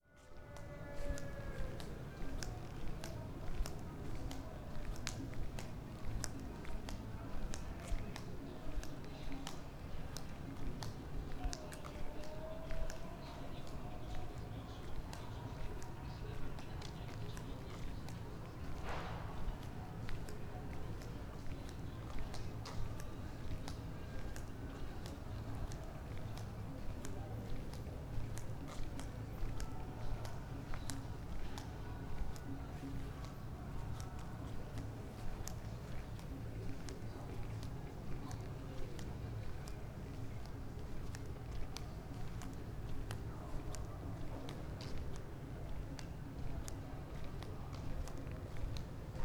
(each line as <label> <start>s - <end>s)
steps 0.2s - 49.2s